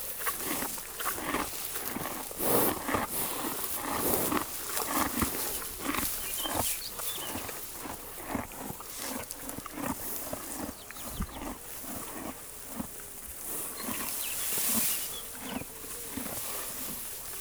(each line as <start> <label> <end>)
0.0 Horses 17.4